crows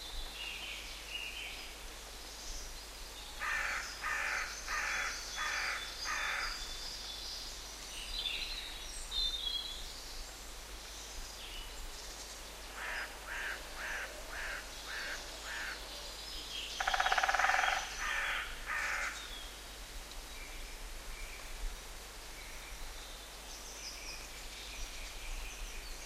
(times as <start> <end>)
3.4 6.6, 12.8 15.8, 16.8 19.2